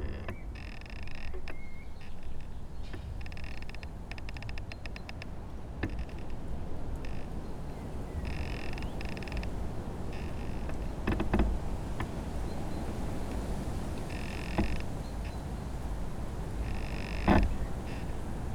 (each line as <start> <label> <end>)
0.0 Creaking tree in wind 18.5
0.0 wind blowing through the tree top 18.5